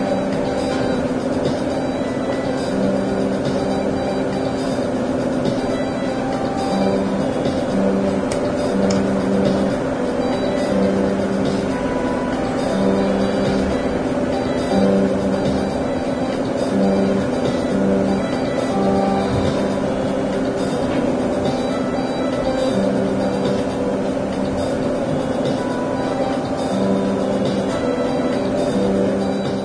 0.0s mix of music 29.6s

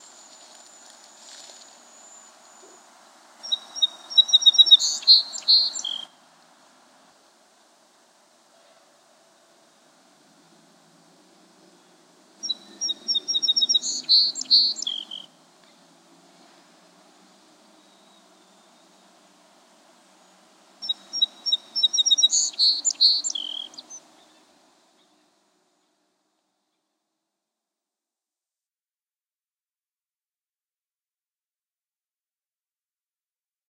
0.0s song sparrow 6.2s
11.6s song sparrow 15.8s
16.4s song sparrow 19.2s
19.9s song sparrow 27.0s

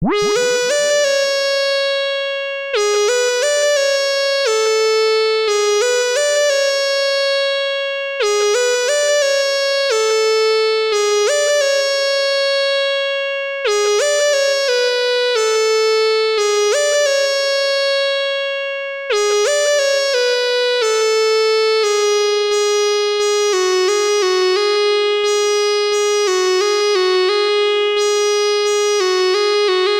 0.0s Synth lead 1.1s

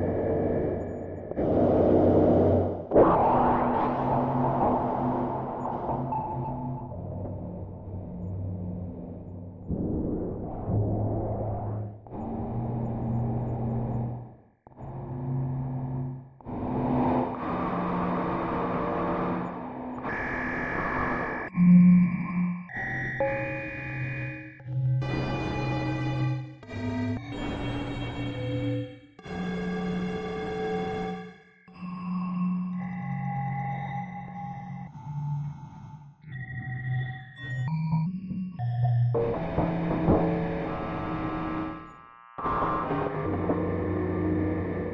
16.6s synthesizer 44.9s

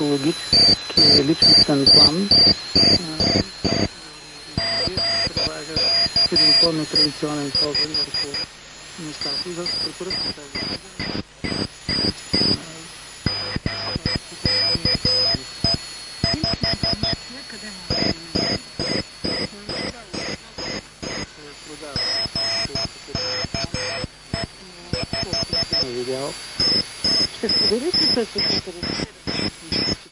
0.0s radiophonic locution 30.0s
0.0s Morse signal station 30.1s
0.0s static 30.1s

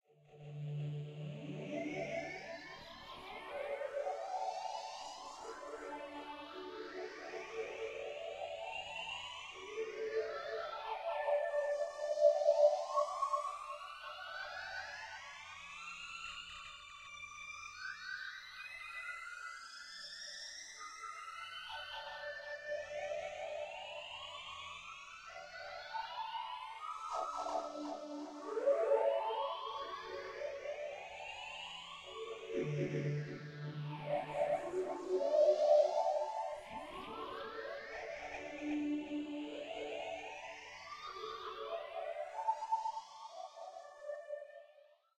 24.8s Dmaj-whale pad 44.6s

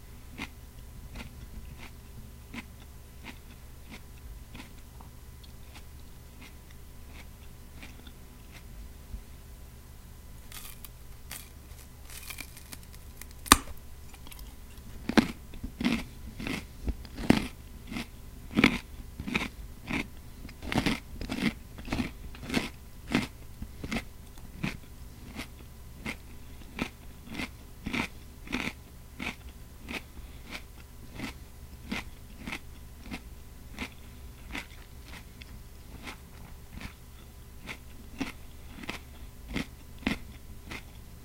0.3s eats a delicious, sweet and crisp carrot 8.8s
10.4s eats a delicious, sweet and crisp carrot 41.2s
10.5s bite off a piece of carrot 37.0s

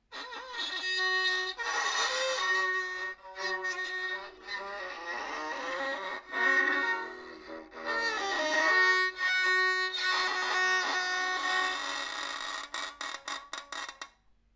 0.1s Bowing broken violin string 14.1s

